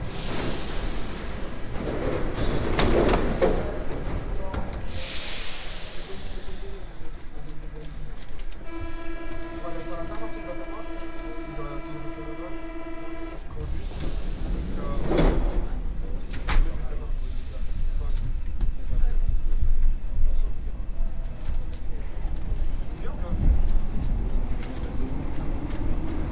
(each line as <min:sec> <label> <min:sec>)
0:00.0 Metro ride 0:26.3